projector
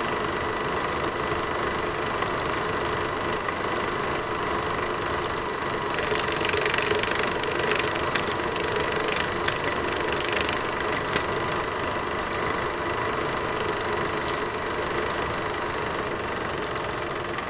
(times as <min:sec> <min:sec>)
0:05.2 0:17.4